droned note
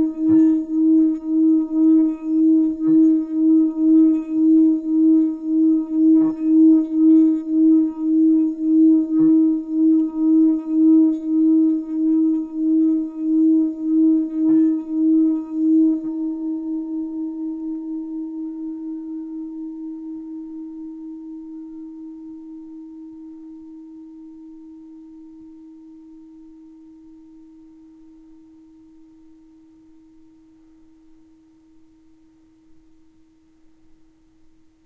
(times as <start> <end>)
0.0 23.6